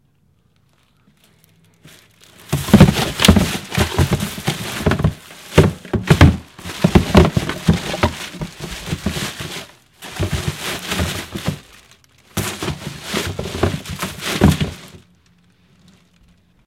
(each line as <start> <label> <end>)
1.1 revolving my own trash can 15.2